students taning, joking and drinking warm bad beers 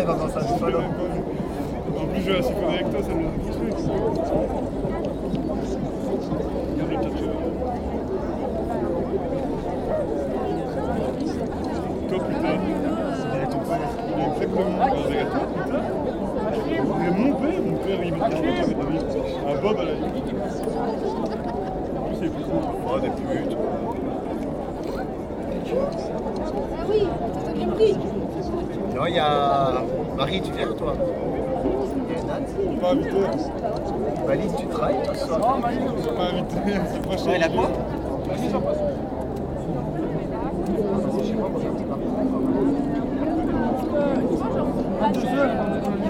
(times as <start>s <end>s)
9.9s 46.0s